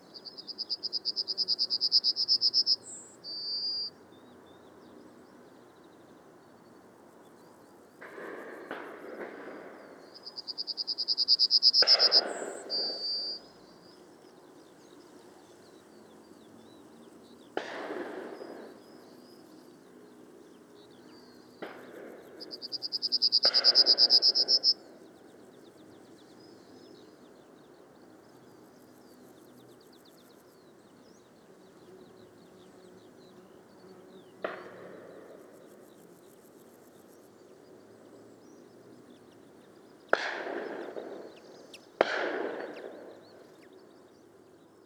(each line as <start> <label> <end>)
0.0 Skylark 3.9
8.0 Skylark 44.8
17.6 shotguns 18.7
40.1 shotguns 41.4
42.0 shotguns 43.1